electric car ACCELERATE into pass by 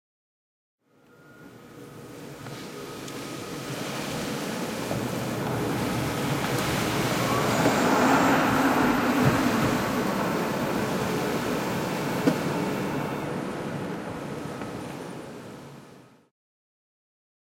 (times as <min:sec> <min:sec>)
0:02.8 0:13.5